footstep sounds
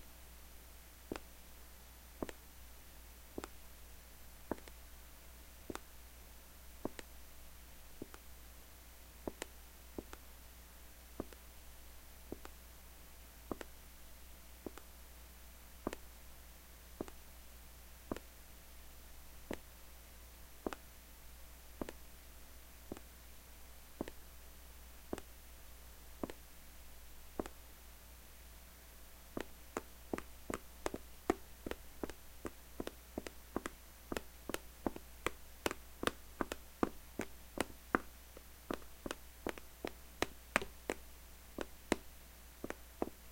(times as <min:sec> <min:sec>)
0:02.2 0:02.5, 0:04.5 0:04.8, 0:05.6 0:05.9, 0:06.8 0:07.1, 0:08.0 0:08.3, 0:09.2 0:10.2, 0:11.2 0:11.4, 0:12.3 0:12.6, 0:13.5 0:13.8, 0:14.6 0:14.9, 0:15.8 0:16.1, 0:17.0 0:17.2, 0:18.1 0:18.3, 0:19.5 0:19.7, 0:20.6 0:20.8, 0:21.8 0:22.1, 0:22.9 0:23.2, 0:23.9 0:24.3, 0:25.1 0:25.3, 0:26.2 0:26.5, 0:27.4 0:27.6, 0:29.3 0:43.3